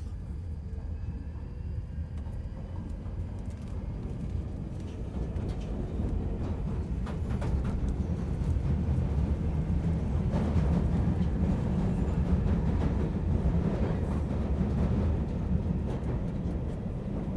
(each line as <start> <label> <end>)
0.0 train 17.3